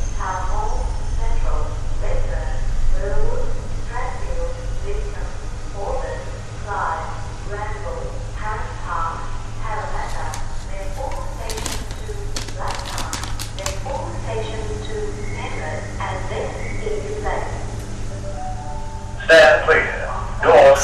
0.0s announcement made inside and outside of train 20.8s
0.0s train leaving station 20.8s
13.9s train stopping 20.8s

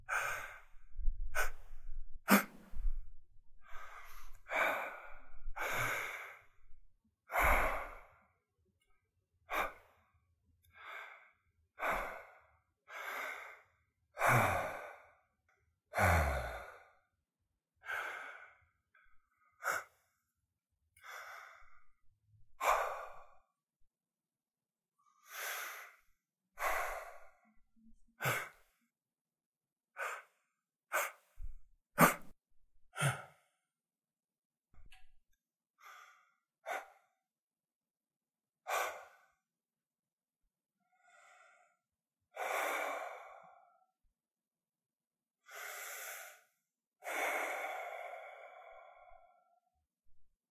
32.0s Gasping 32.3s

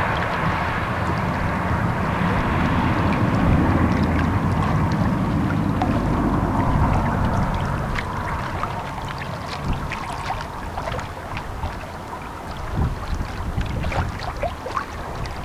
0.0s Gentle waves splashing on the rocks 15.4s
0.0s passing cars 15.4s

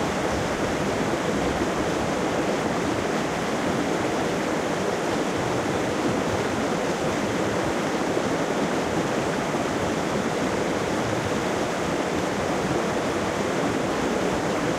0.0s waterfall 14.7s

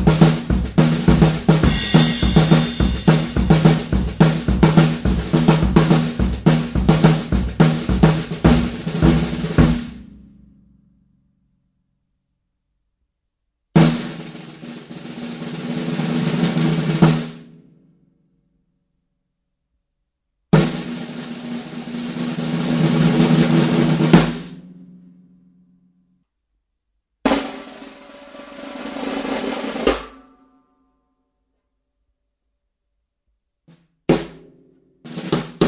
0.0s snare drum tuned low 10.6s
0.0s Straight drum beats 10.7s
13.8s Straight drum beats 17.5s
20.5s Straight drum beats 24.9s
27.3s Straight drum beats 30.3s
33.7s Straight drum beats 35.6s

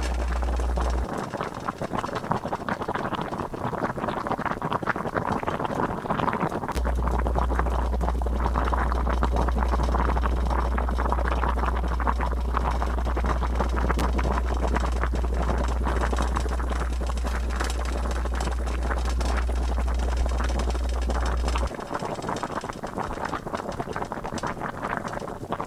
0.0s pot of water boiling on my stove 25.6s
0.0s rattling you hear comes from the noisy coils 25.6s

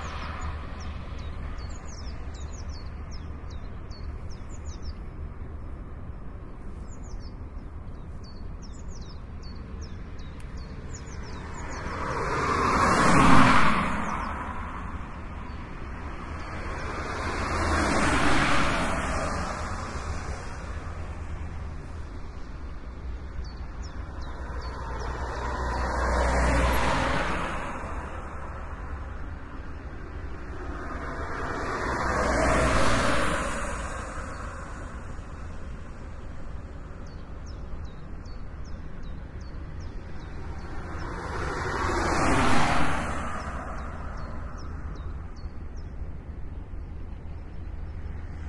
0.0s traffic 48.4s

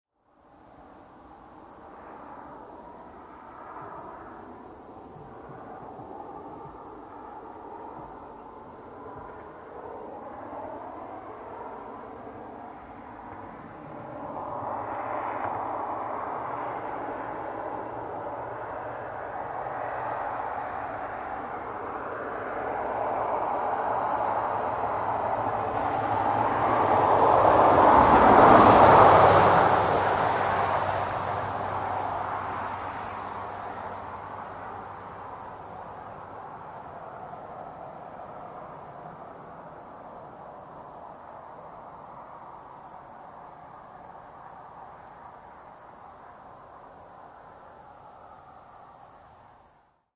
0.3s Car driveby on highway right to left 50.1s

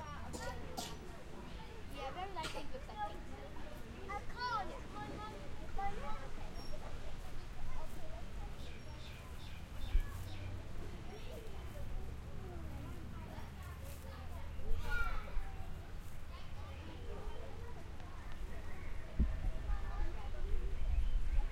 0.0s Kids in playground 21.5s

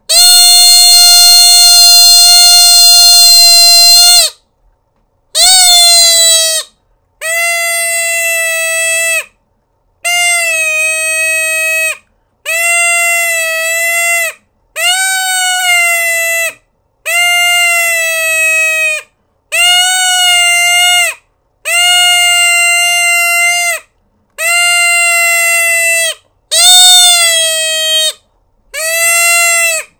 0.0s predator call 4.4s
5.4s predator call 6.7s
24.4s predator call 28.2s

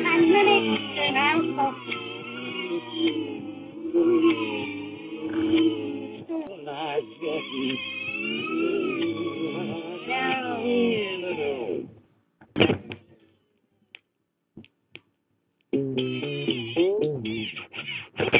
17.5s scratched a record on a stereo 18.3s

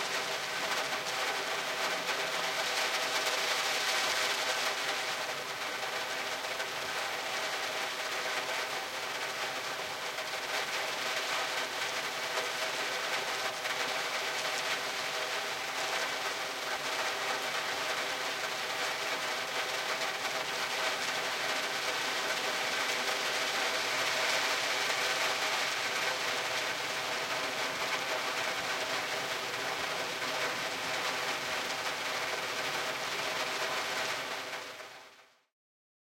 0.0s rain hitting the windows inside my car 35.3s

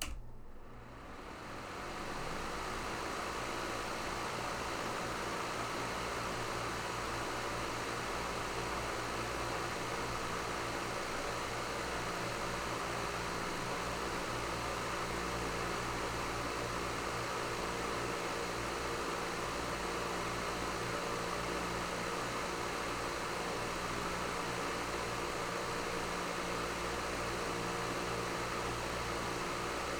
0.0s large fan turning on, running and turning off 29.9s

